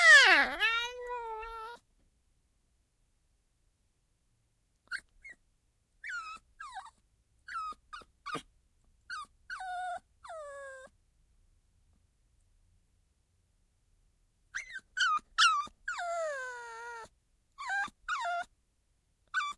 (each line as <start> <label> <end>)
0.0 puppy 2.5months cute squeal 1.8
4.8 puppy 2.5months cute squeal 5.4
6.0 puppy 2.5months cute squeal 8.5
9.1 puppy 2.5months cute squeal 10.9
14.5 puppy 2.5months cute squeal 18.5
19.3 puppy 2.5months cute squeal 19.5